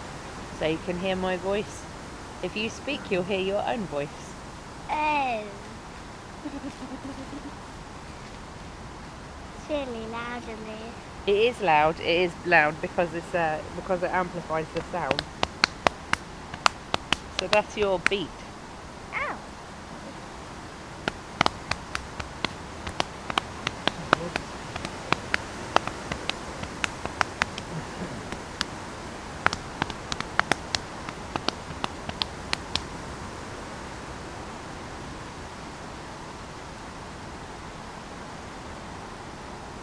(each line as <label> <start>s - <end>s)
percussion 11.3s - 18.6s
percussion 21.0s - 32.9s